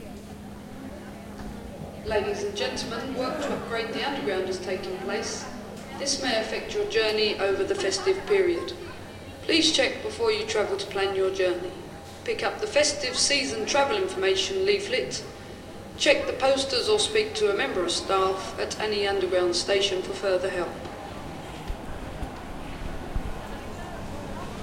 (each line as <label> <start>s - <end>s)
walla 0.0s - 15.2s
female voice about closed stations and security 2.0s - 15.3s
female voice about closed stations and security 16.0s - 20.8s
Train comming and leaving squeaky 19.2s - 24.6s